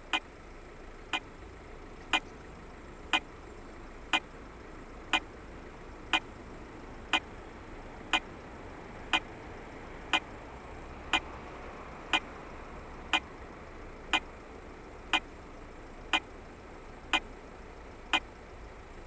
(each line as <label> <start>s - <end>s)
traffic noise 0.0s - 19.0s